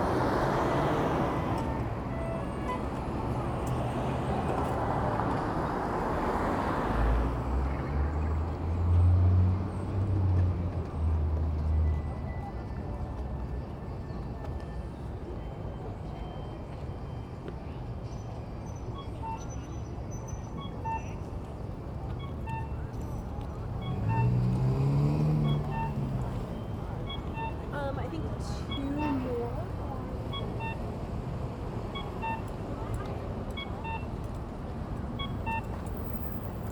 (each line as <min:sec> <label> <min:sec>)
0:20.6 Traffic light tunes 0:31.1
0:31.8 Traffic light tunes 0:36.7